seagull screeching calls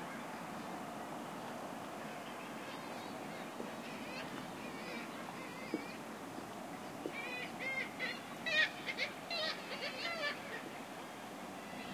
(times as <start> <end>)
2.7 6.0, 7.1 10.7